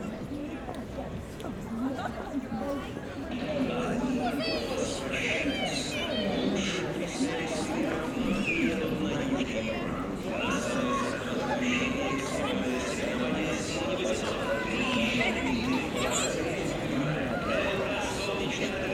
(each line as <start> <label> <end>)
0.0 walking people 18.9
3.8 children 6.8
13.9 children 18.8